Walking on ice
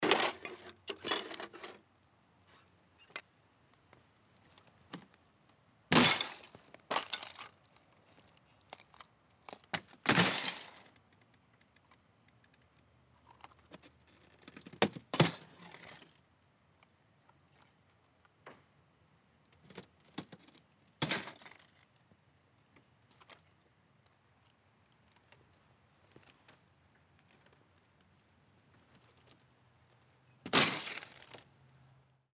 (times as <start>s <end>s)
6.0s 8.9s